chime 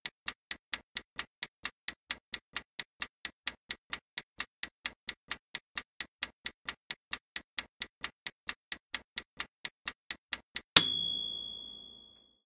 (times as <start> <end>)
10.8 12.4